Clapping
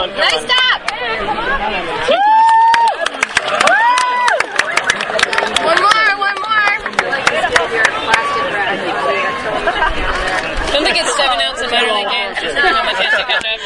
2.3 8.3

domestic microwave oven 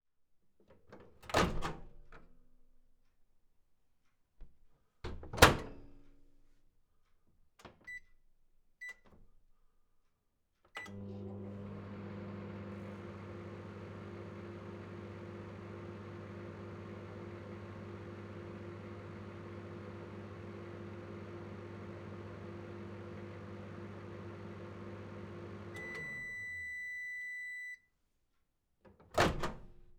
10.8 27.8

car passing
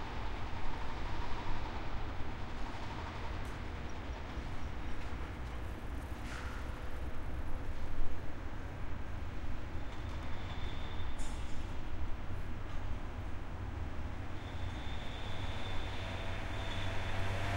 15.2 17.5

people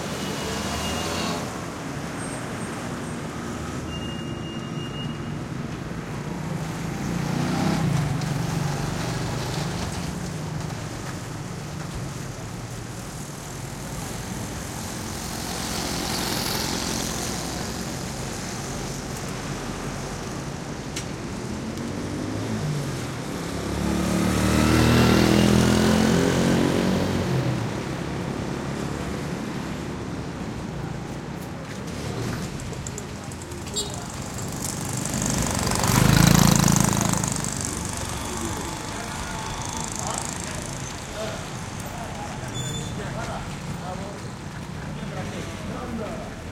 31.4 46.5

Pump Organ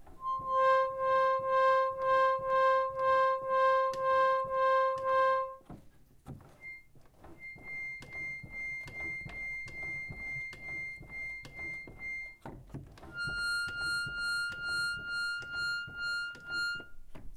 6.4 16.9

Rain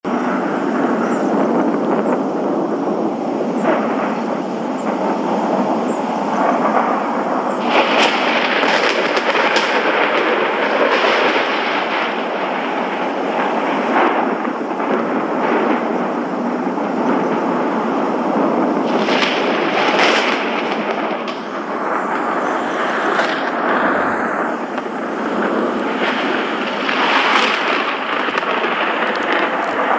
2.4 15.9, 21.1 29.9

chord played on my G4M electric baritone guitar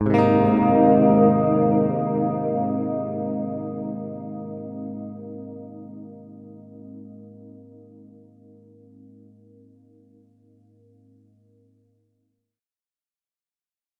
0.0 10.9

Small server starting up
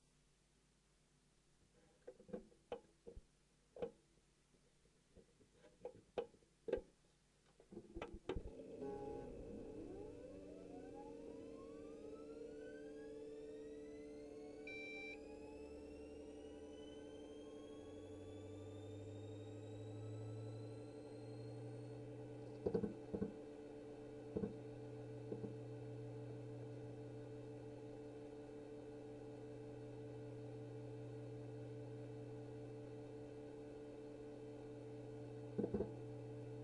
8.5 36.6

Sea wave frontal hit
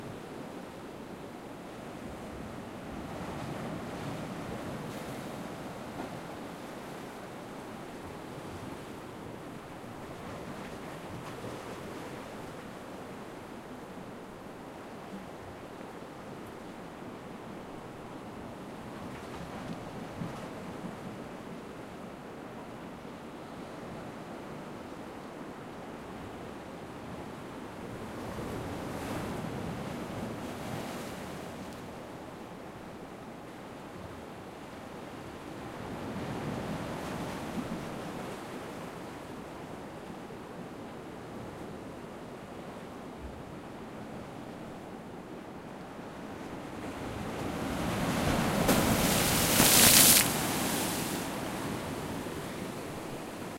48.4 50.7

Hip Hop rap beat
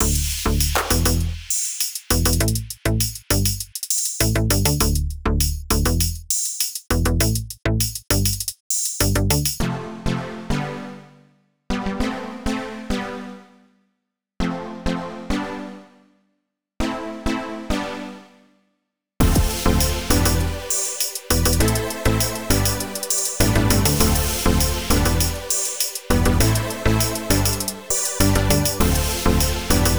19.2 29.9

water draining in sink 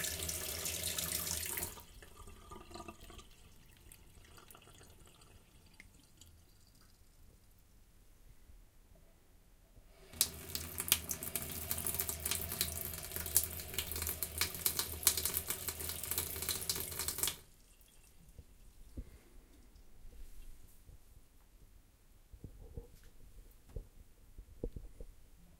0.0 7.0, 10.1 18.2

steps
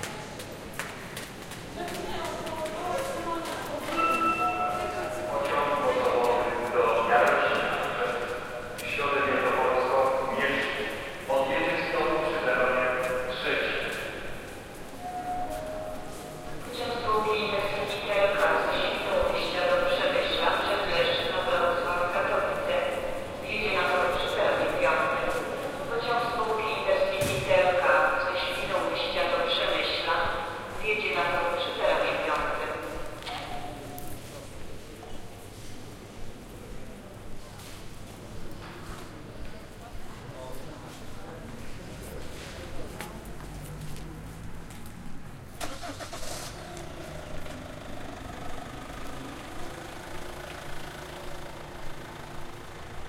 0.0 9.1, 13.0 18.6, 40.8 45.2

